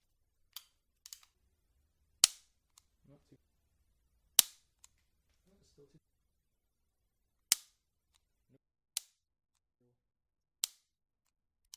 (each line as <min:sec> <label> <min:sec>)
0:02.2 handgun 0:02.9
0:04.4 handgun 0:04.9
0:07.5 handgun 0:07.8
0:10.6 handgun 0:10.9